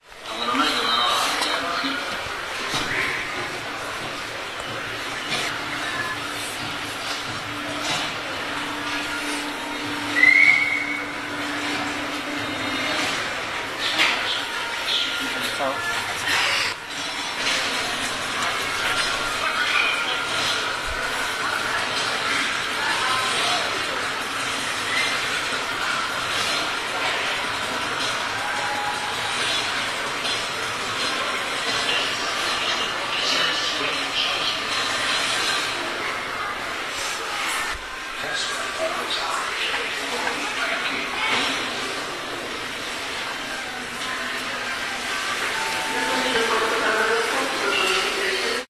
tv 0.0 - 48.6

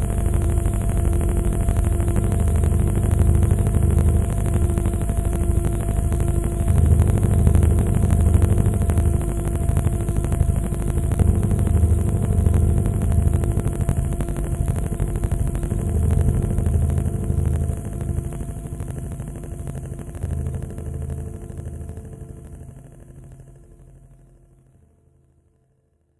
erroneous glitching 0.0 - 22.8

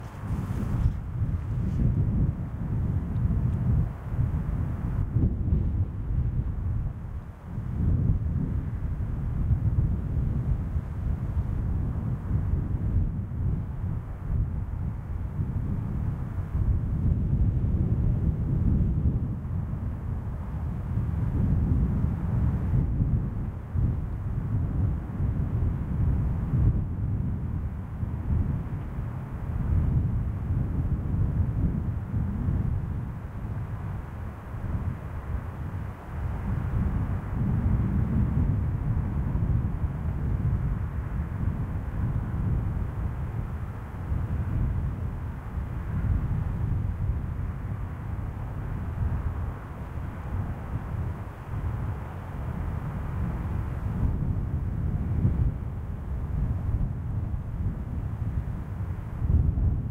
windy 0.0 - 59.9

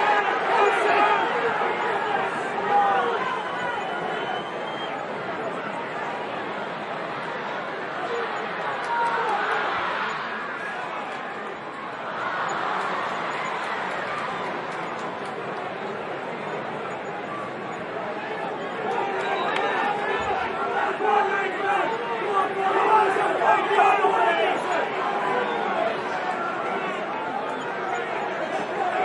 cheers 0.0 - 5.1
cheers 7.4 - 15.3
cheers 18.2 - 29.0
shouting 18.8 - 29.0

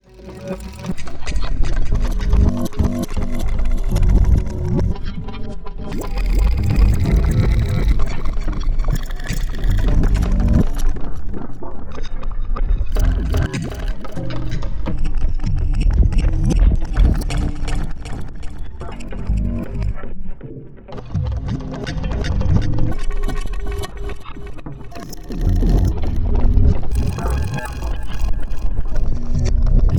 synth 5.9 - 11.4
synth 13.0 - 15.1
synth 23.2 - 29.9

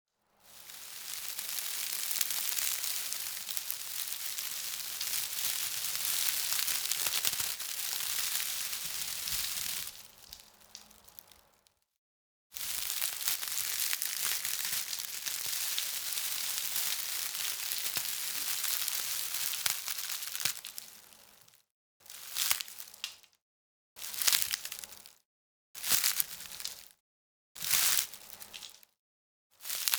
Wood Shavings Crackling and Handling 0.4 - 11.4
Wood Shavings Crackling and Handling 12.6 - 20.8

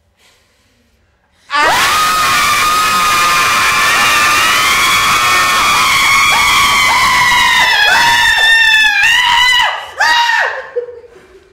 screaming 1.5 - 10.8

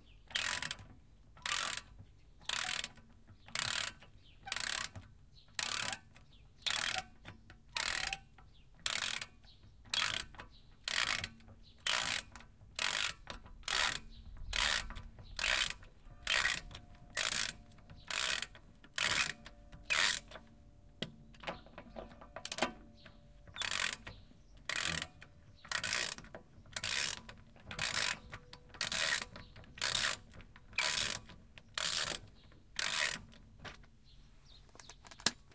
ratchet 0.3 - 20.5
ratchet 23.5 - 33.4

